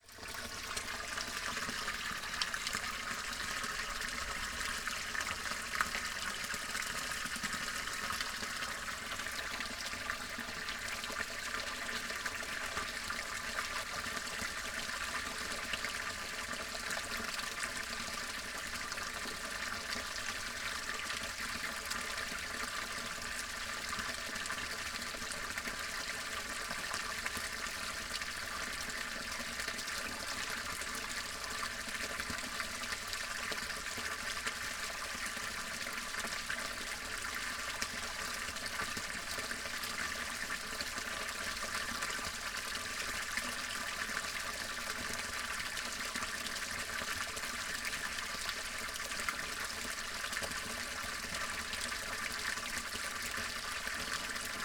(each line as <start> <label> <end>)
0.0 Clear water flows out of a tube 54.6